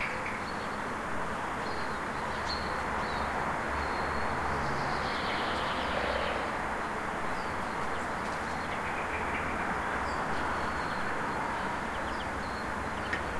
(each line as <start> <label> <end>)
0.0 several birds 13.3
0.0 street-noice 13.3